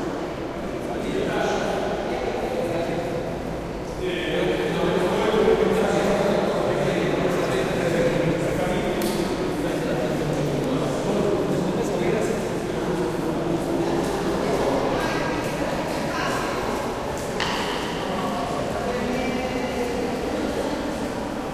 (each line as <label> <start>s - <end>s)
distant crowd 0.0s - 21.5s